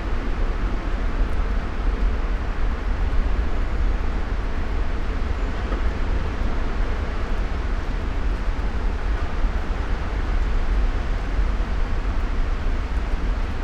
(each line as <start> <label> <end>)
0.0 river 13.6